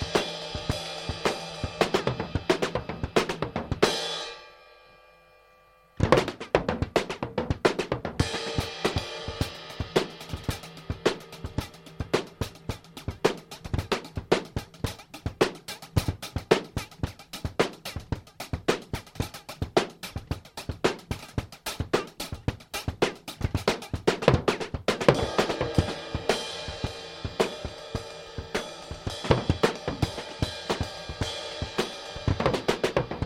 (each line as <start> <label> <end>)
0.0 drum 4.4
6.0 drum 33.2